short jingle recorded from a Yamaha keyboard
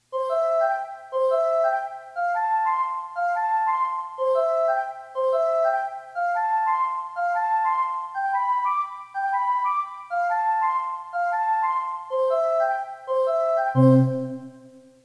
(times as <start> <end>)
13.8 14.6